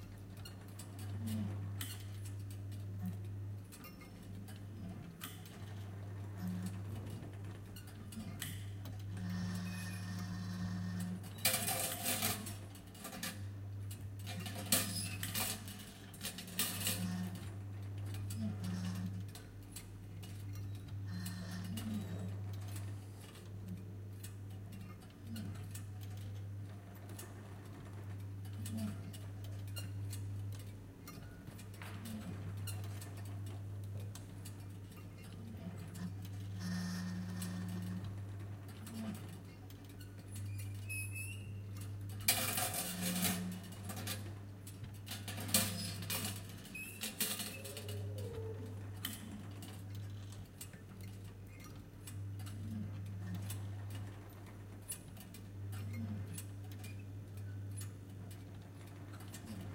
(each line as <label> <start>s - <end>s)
Incredible Machine Sound 8.1s - 12.6s